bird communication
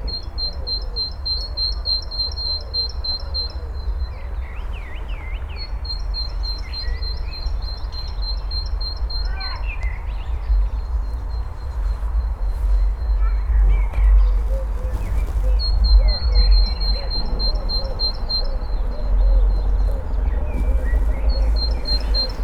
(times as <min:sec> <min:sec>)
0:13.1 0:22.4